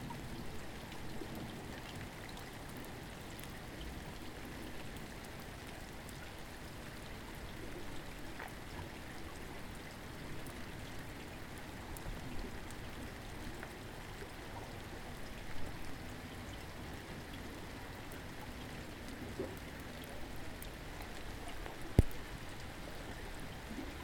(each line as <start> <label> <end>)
0.0 rain 24.0